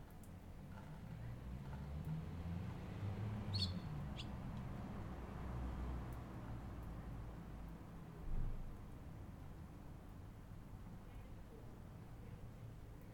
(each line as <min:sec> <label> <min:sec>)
0:00.0 sounds from houses 0:13.1
0:00.6 cars 0:07.2
0:03.5 Birds 0:04.4